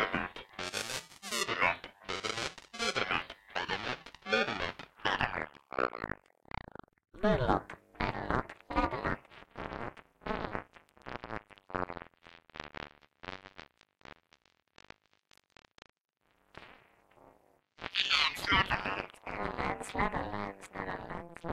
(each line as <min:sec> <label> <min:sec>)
0:00.0 homemadevocoder 0:06.1
0:07.2 homemadevocoder 0:10.6
0:17.8 homemadevocoder 0:21.5